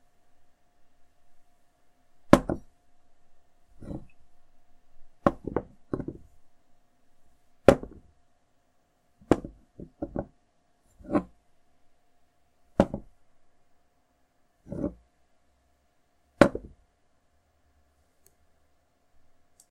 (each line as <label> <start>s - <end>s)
glass being lifted and placed back down on a wood surface 3.8s - 4.2s
glass being lifted and placed back down on a wood surface 14.7s - 15.0s